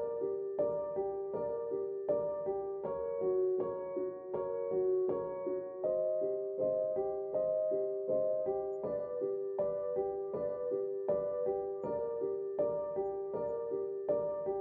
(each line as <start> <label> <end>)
0.0 piano 14.6